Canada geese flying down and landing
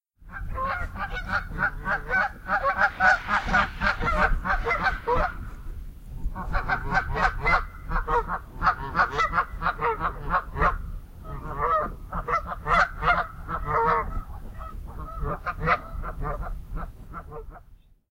0.3 5.6

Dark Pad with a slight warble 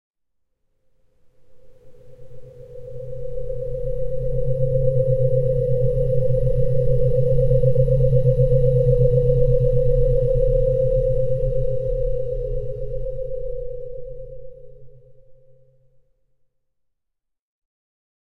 1.2 15.8

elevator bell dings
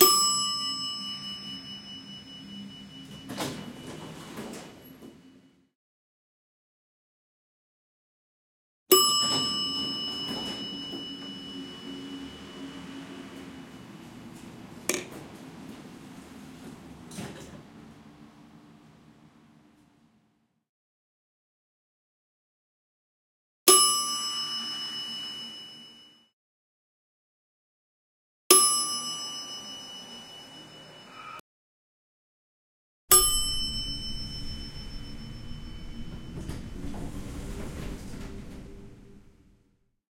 0.0 5.6, 8.9 15.2, 23.7 26.3, 28.5 31.4, 33.1 39.5

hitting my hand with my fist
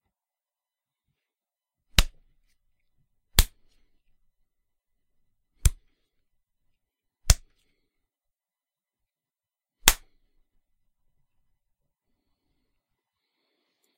1.9 2.3, 3.4 3.8, 5.6 5.9, 7.2 7.5, 9.8 10.2

